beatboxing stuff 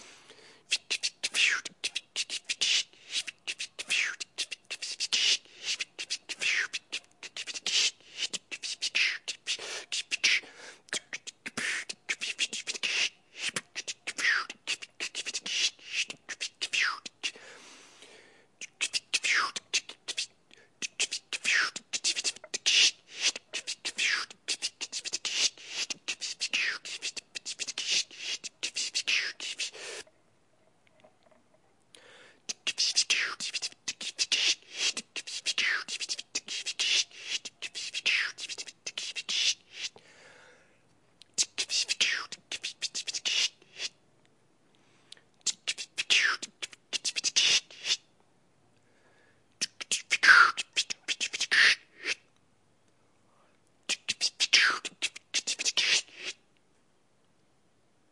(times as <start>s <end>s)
0.7s 17.5s, 18.6s 30.1s, 32.5s 40.0s, 41.2s 44.0s, 45.4s 48.1s, 49.6s 52.3s, 53.9s 56.4s